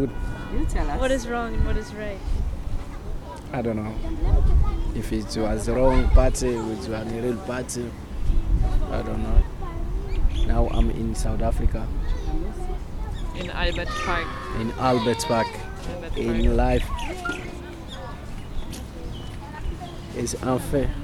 local passer-bye talks 0.0 - 21.0
children are running around the huts 11.8 - 16.1

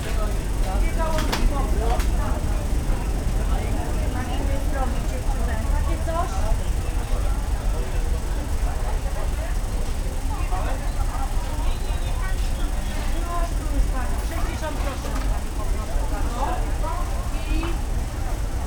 rattle and hum is coming from a nearby fan 0.0 - 18.6
rumor of customers moving around 0.0 - 18.6
traffic from streets around the market 0.0 - 18.6

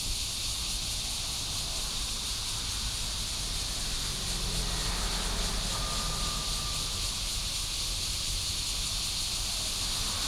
Cicadas 0.0 - 10.2
Traffic sound 0.0 - 10.2

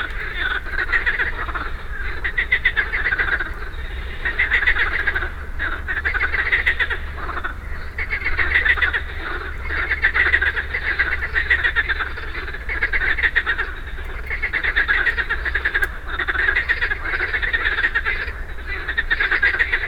Frogs 0.0 - 19.8

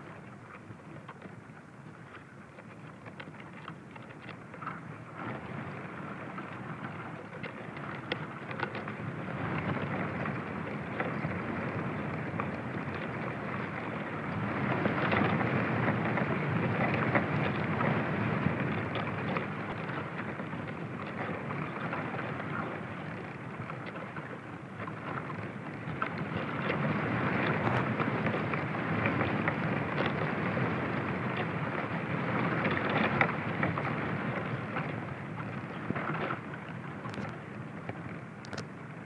trunk of an Olive tree on a windy day 0.0 - 39.0

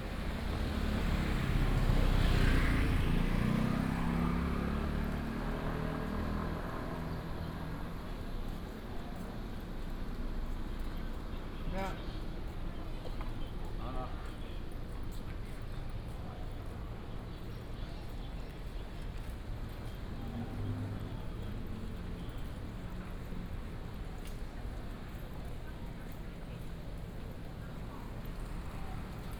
Traffic Sound 0.0 - 15.1
walking in the Street 0.0 - 29.3
Traffic Sound 16.2 - 29.3

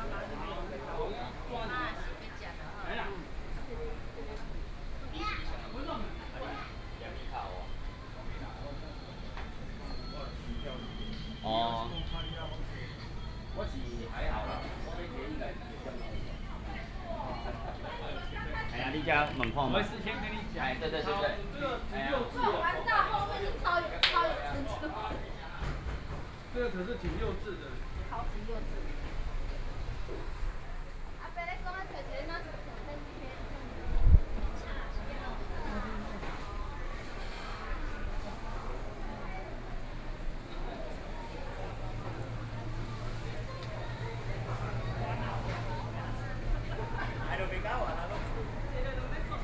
Walking through the market 0.0 - 49.4
Traffic Sound 39.6 - 49.4

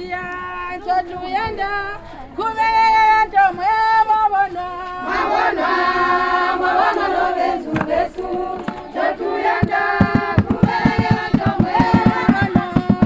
Welcome song 2.5 - 13.0

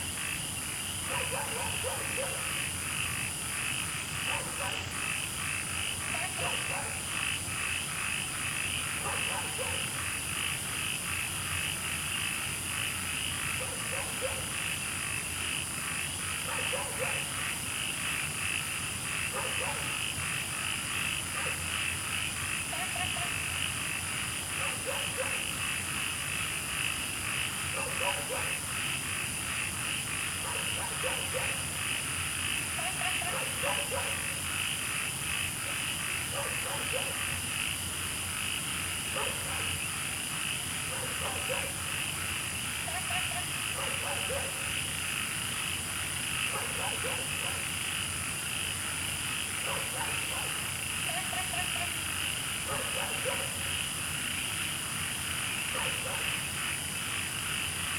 Insects sounds 0.0 - 57.9
Frogs chirping 0.0 - 57.9
Dogs barking 1.1 - 2.6
Dogs barking 4.2 - 4.8
Dogs barking 6.2 - 7.0
Dogs barking 9.0 - 10.0
Dogs barking 13.6 - 14.5
Dogs barking 16.4 - 17.3
Dogs barking 19.3 - 20.0
Dogs barking 21.3 - 21.7
Dogs barking 24.6 - 25.5
Dogs barking 27.7 - 28.6
Dogs barking 30.4 - 31.7
Dogs barking 32.8 - 34.4
Dogs barking 35.7 - 37.2
Dogs barking 39.1 - 39.7
Dogs barking 40.8 - 41.9
Dogs barking 42.9 - 44.6
Dogs barking 46.5 - 47.7
Dogs barking 49.6 - 51.9
Dogs barking 52.6 - 53.7
Dogs barking 55.7 - 56.4

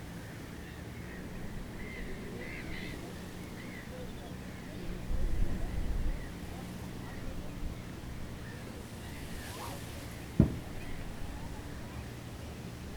wind-blown reed 8.2 - 11.4

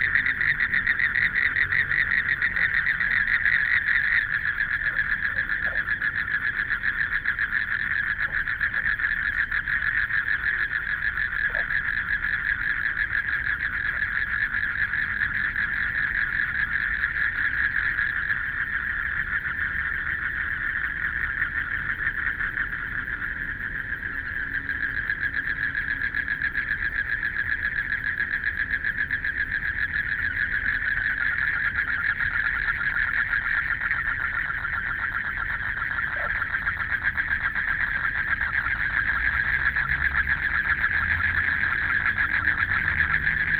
Frogs sound 0.0 - 43.5
Traffic Sound 0.0 - 43.5

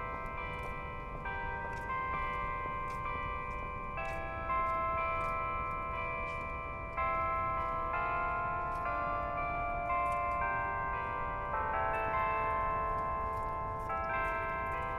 Haas Bell Tower 0.0 - 14.9

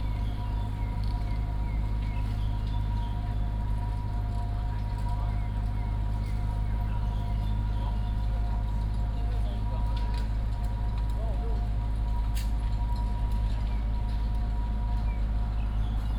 Chirp 0.0 - 3.7

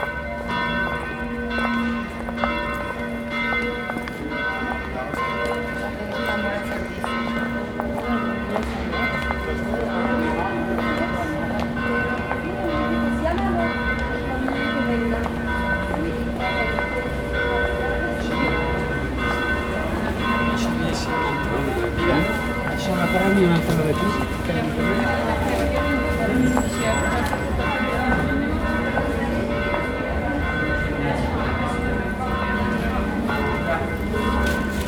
Bells ringing 0.0 - 34.8

